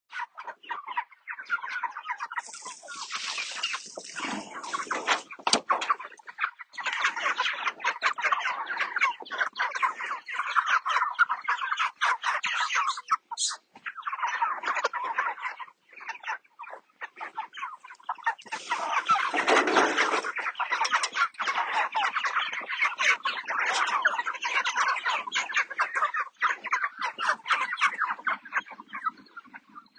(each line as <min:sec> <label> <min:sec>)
0:00.1 Meat birds chicken feeding 0:29.9